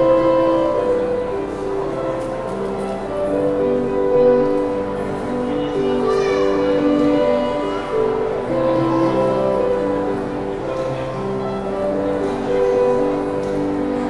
Pianista 0:00.0 - 0:14.0

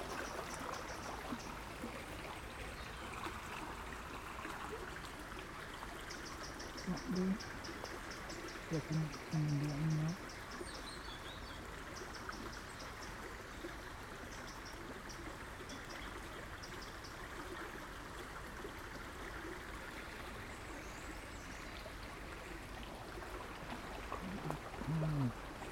stream 0:00.0 - 0:25.7

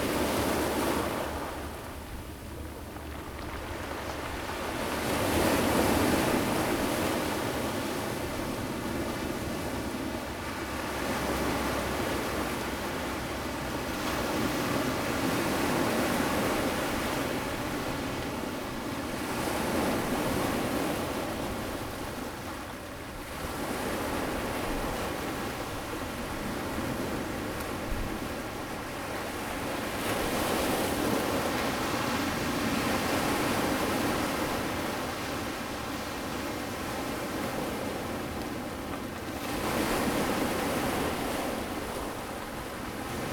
the waves 0:00.0 - 0:43.3

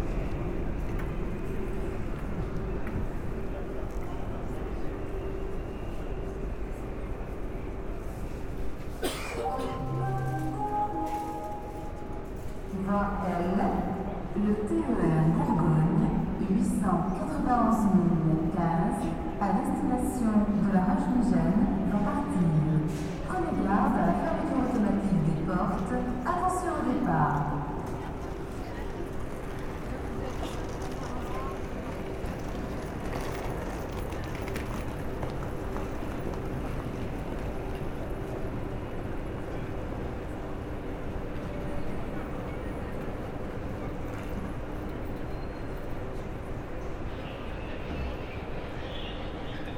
Taking the train 0:00.0 - 0:49.7

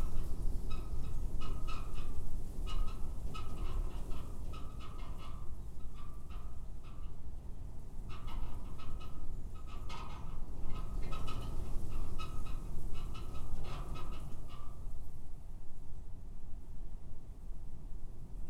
wren 0:00.0 - 0:07.2
winds gusting across field of Spring wheat 0:00.0 - 0:18.4
wren 0:08.0 - 0:14.9

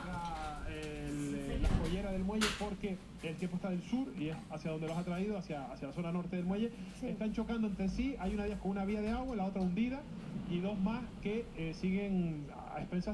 howling of the wind outside the house 0:00.0 - 0:13.1
local tv news 0:00.0 - 0:13.1

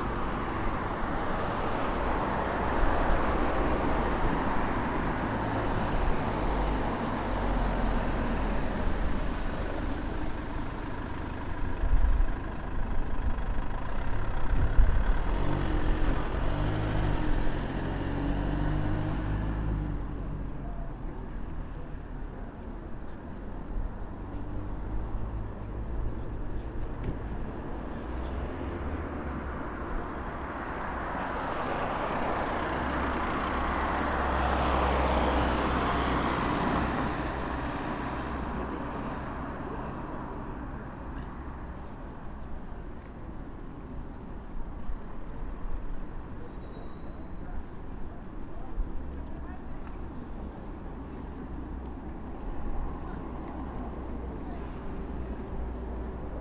Light wind 0:00.0 - 0:56.4
cars passing by 0:00.0 - 0:56.4

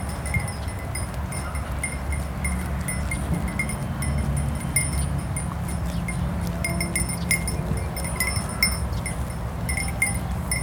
highway in the background 0:00.0 - 0:10.6

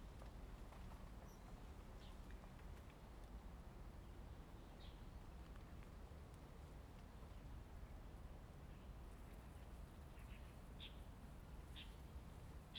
Wind 0:00.0 - 0:12.7

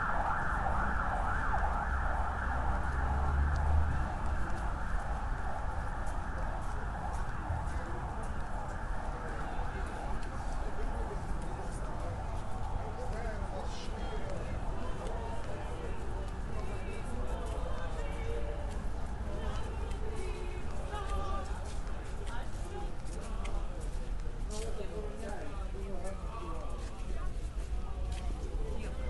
police 0:00.0 - 0:29.0
Traditionnal chants 0:12.6 - 0:27.4

